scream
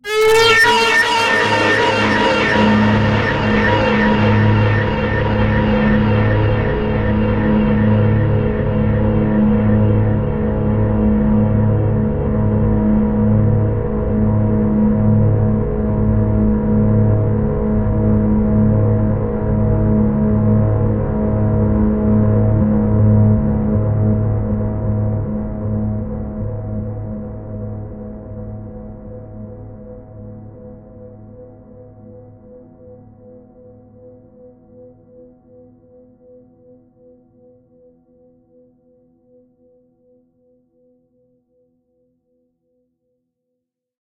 0.0s 6.8s

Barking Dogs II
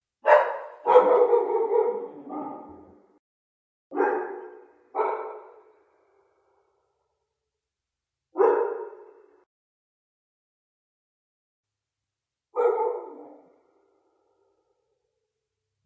0.2s 3.0s, 3.9s 5.7s, 12.6s 13.6s

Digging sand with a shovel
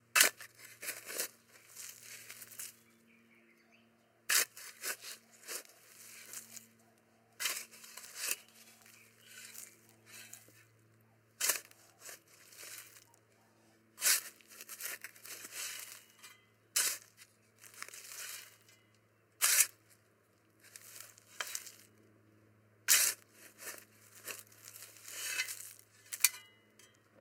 0.1s 2.8s, 4.3s 6.7s, 7.4s 10.7s, 11.4s 13.1s, 13.9s 18.7s, 19.4s 19.8s, 20.6s 21.8s, 22.9s 26.6s

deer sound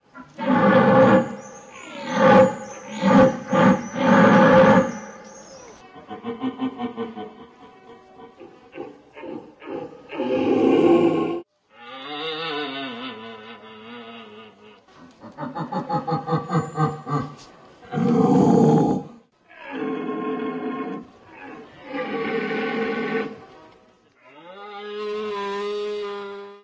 0.1s 12.2s

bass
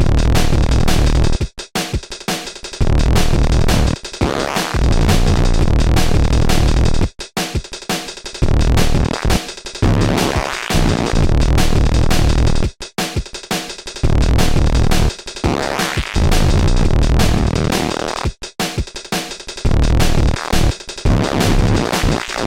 0.0s 1.4s, 2.8s 7.1s, 8.4s 12.7s, 14.0s 18.2s, 19.7s 22.4s

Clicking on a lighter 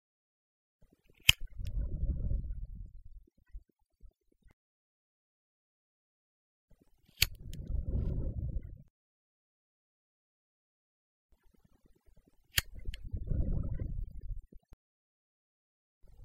1.2s 1.8s, 7.2s 7.7s, 12.6s 13.0s

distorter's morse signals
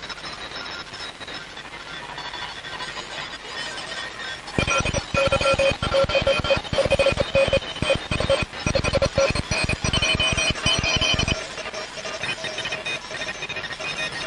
4.6s 14.2s

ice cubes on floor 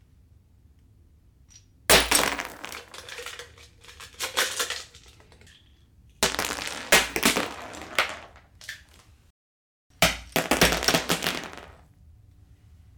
1.9s 9.0s, 10.0s 11.8s

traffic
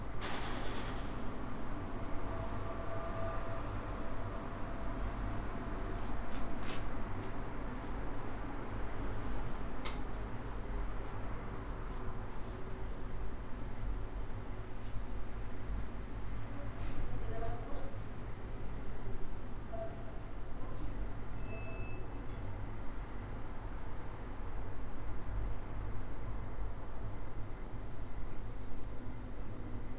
0.0s 12.2s

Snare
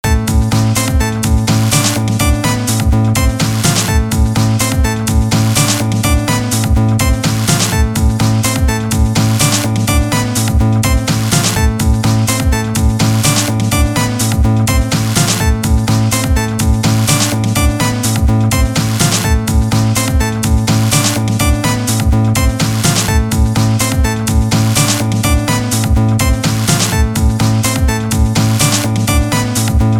11.1s 11.6s, 14.9s 15.4s, 18.8s 19.2s, 22.6s 23.1s, 26.4s 27.0s, 28.6s 28.9s

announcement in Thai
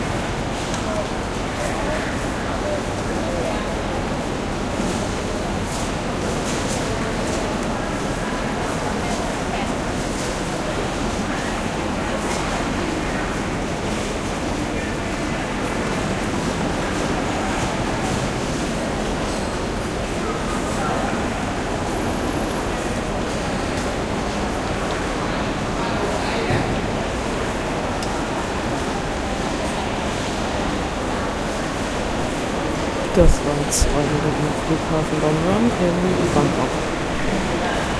32.1s 37.7s

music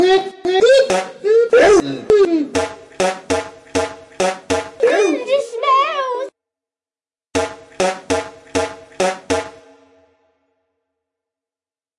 7.6s 10.6s

